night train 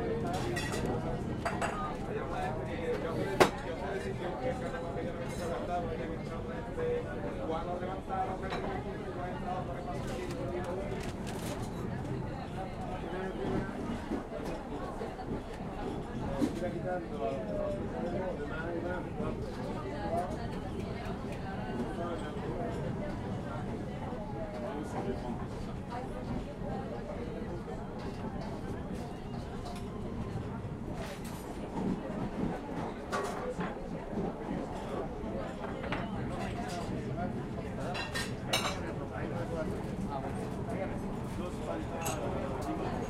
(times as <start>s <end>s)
8.6s 18.0s, 20.7s 37.6s